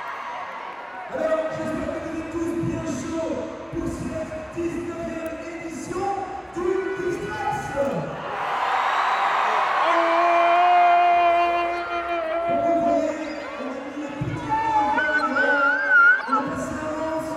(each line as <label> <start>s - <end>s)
Shouting 8.3s - 17.3s